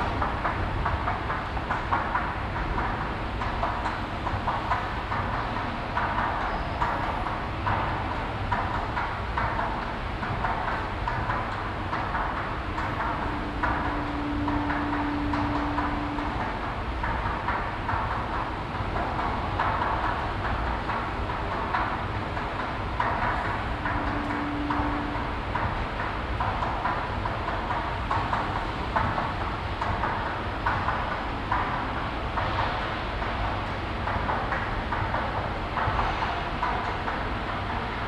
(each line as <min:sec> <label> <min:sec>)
0:00.0 moving stairways 0:38.0